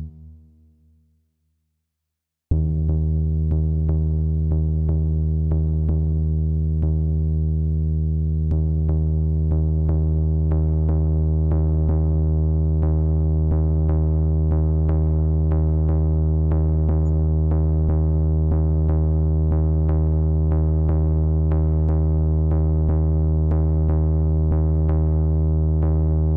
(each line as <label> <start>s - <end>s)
Punchy Bass Sequence 2.5s - 26.3s